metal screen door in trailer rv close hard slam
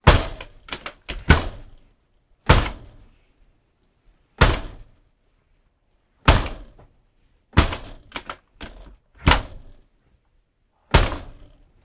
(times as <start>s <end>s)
0.0s 1.8s, 2.5s 3.0s, 4.4s 5.0s, 6.3s 6.8s, 7.6s 9.8s, 10.9s 11.7s